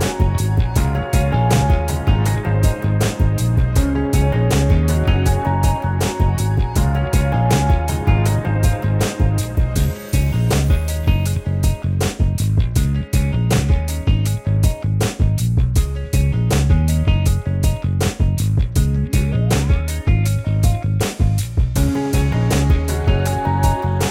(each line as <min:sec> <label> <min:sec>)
0:00.0 synth 0:11.3
0:00.0 catchy tune 0:14.7
0:18.8 catchy tune 0:24.1